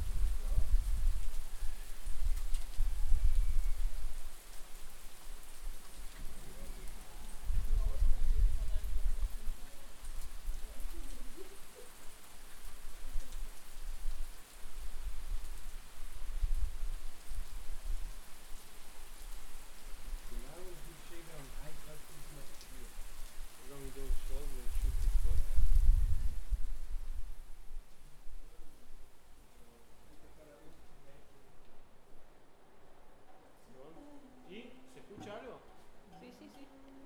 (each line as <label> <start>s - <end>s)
much rain 0.0s - 37.0s
wind 0.0s - 37.0s